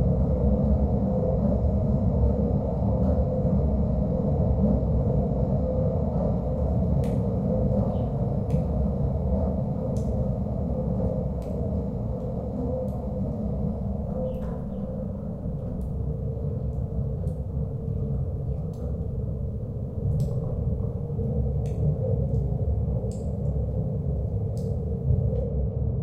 mechanical/windy sounds 0:00.4 - 0:26.0

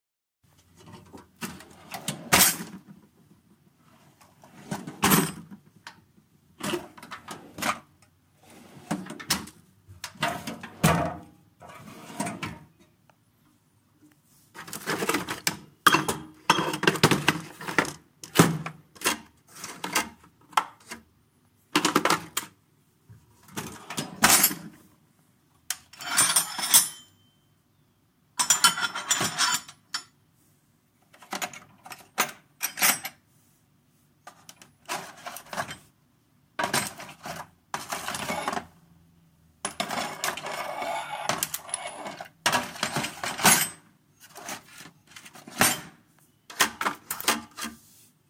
Tools being moved around in a toolbox 0:00.7 - 0:03.0
Tools being moved around in a toolbox 0:03.9 - 0:05.8
Tools being moved around in a toolbox 0:06.6 - 0:12.8
Tools being moved around in a toolbox 0:14.5 - 0:21.0
Tools being moved around in a toolbox 0:23.4 - 0:24.8
Tools being moved around in a toolbox 0:25.7 - 0:27.3
Tools being moved around in a toolbox 0:28.4 - 0:30.2
Tools being moved around in a toolbox 0:31.1 - 0:33.2
Tools being moved around in a toolbox 0:34.2 - 0:35.9
Tools being moved around in a toolbox 0:36.6 - 0:38.8
Tools being moved around in a toolbox 0:39.6 - 0:47.9

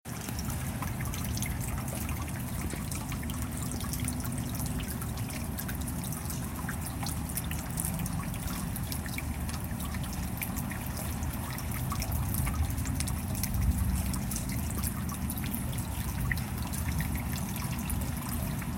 Rain Drips 0:00.1 - 0:18.7

